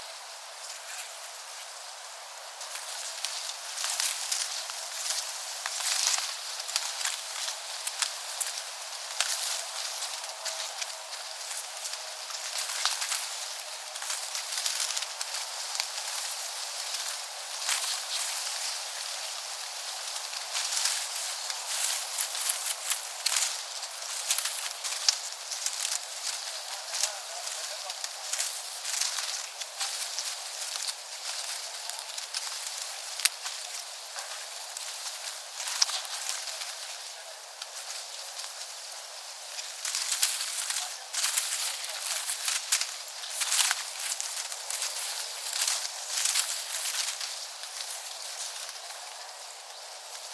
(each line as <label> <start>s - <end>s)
windy wind leaves rustle 0.0s - 50.3s